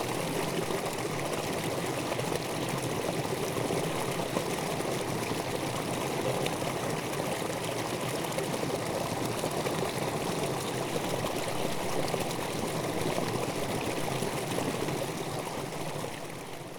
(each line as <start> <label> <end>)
0.0 water flows in dirch Graben 38 over a small weir 16.7